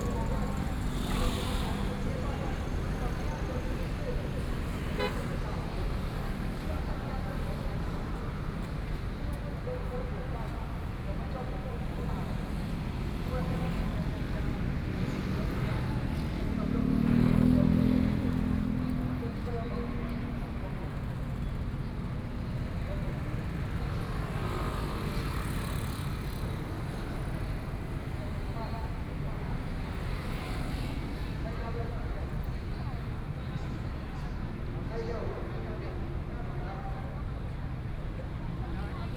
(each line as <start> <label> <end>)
0.0 Traffic Sound 36.2